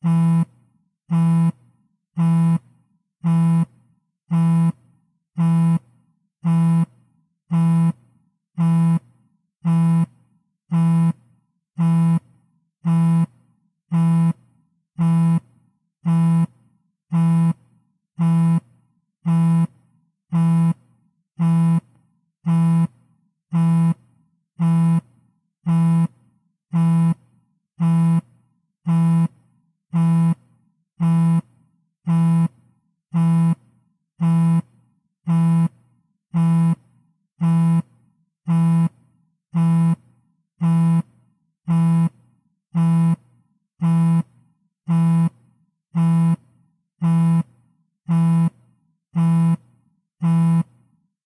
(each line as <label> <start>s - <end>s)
Iphone vibrating on a table 0.0s - 51.0s